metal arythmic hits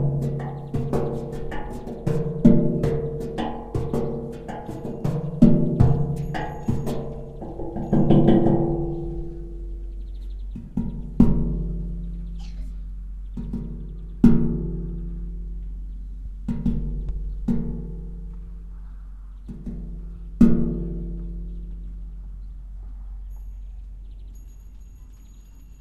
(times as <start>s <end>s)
0.0s 15.8s